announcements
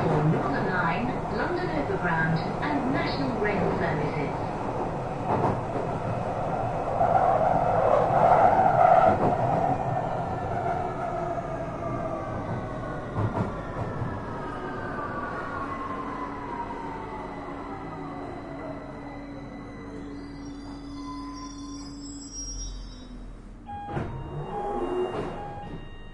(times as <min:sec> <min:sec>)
0:00.0 0:04.6